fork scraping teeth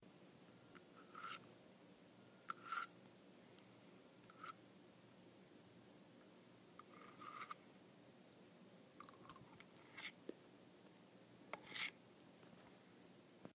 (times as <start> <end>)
1.0 1.5, 6.8 7.6, 9.0 10.2, 11.6 12.0